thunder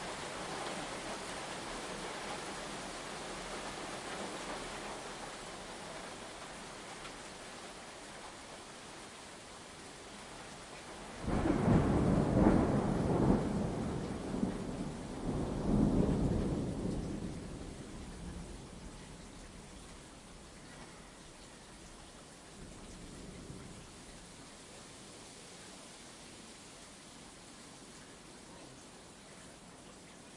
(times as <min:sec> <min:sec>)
0:11.2 0:19.0